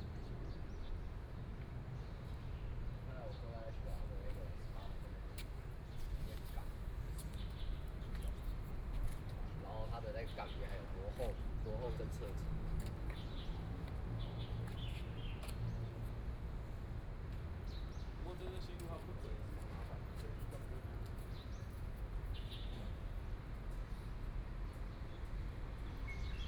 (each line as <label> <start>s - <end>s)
Birds singing 9.4s - 12.0s